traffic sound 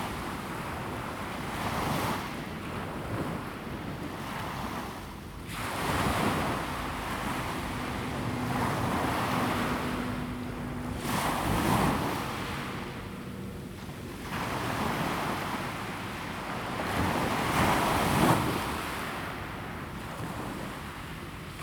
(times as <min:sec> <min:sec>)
0:05.0 0:17.4